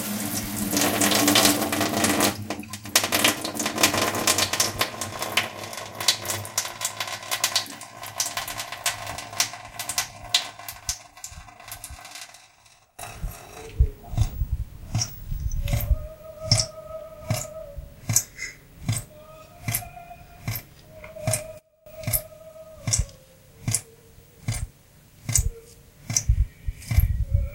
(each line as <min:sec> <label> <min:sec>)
0:00.0 water 0:11.0